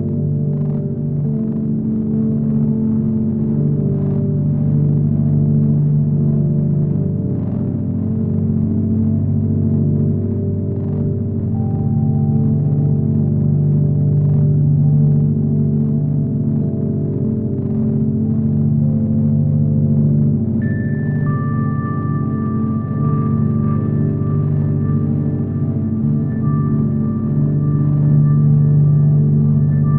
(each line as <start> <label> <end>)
0.0 drone 29.9
0.0 rhodes 29.9